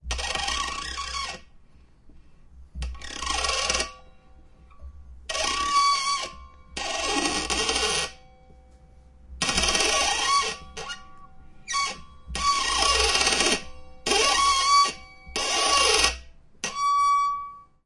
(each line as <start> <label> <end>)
2.8 threading a brass rod 8.8
9.4 threading a brass rod 17.8